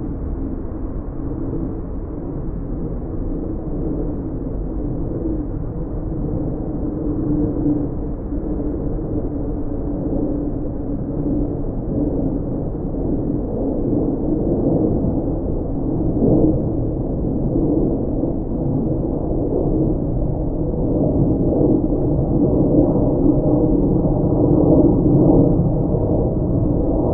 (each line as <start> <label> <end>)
0.0 passing airplane at its normal height 27.1